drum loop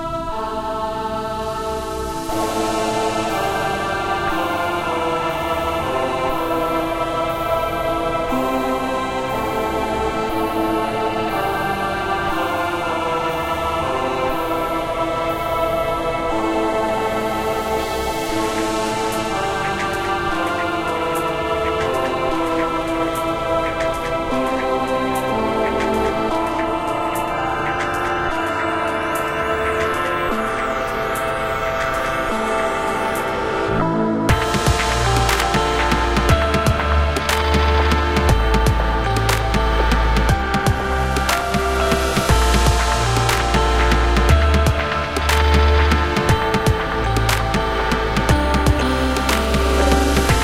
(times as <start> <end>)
34.3 50.4